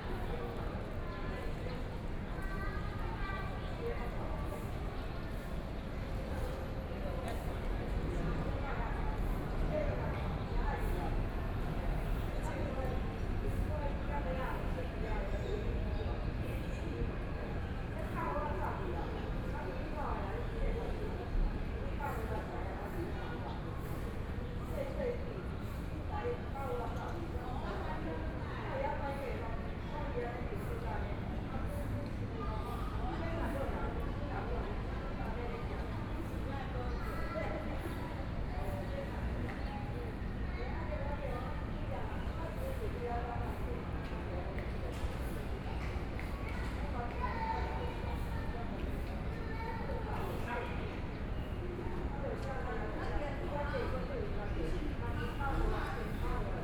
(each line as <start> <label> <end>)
0.0 distant sound of the MRT train 56.6